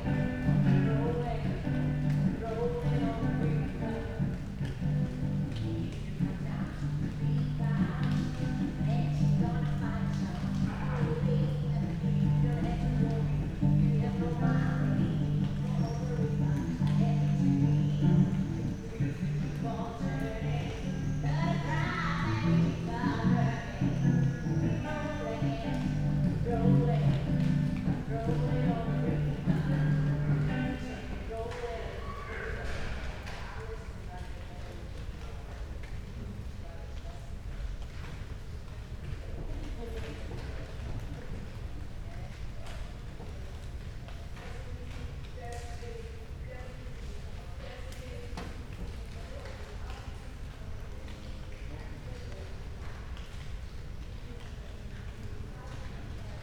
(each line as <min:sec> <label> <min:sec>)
0:01.2 raindrops hitting leaves 0:31.8